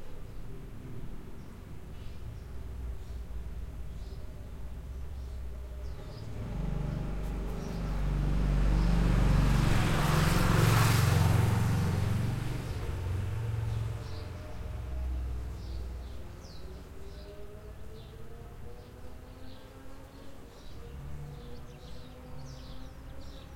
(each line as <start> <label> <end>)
6.1 car stops 14.4